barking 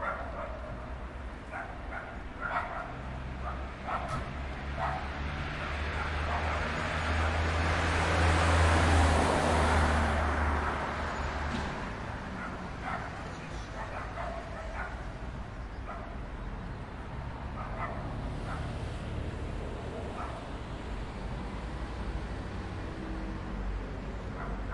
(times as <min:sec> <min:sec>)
0:00.0 0:00.8, 0:01.5 0:05.1, 0:12.4 0:15.1, 0:17.6 0:18.7, 0:24.4 0:24.7